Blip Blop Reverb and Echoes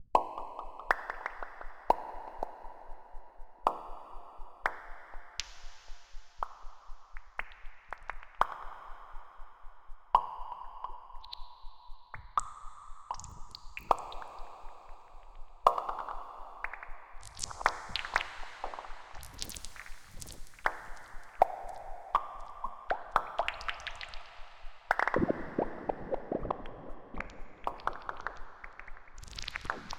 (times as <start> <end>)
24.9 29.9